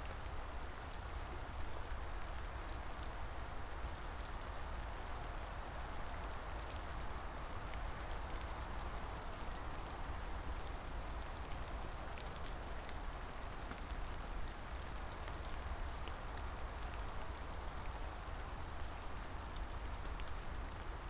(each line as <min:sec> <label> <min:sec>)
0:00.0 rain 0:21.0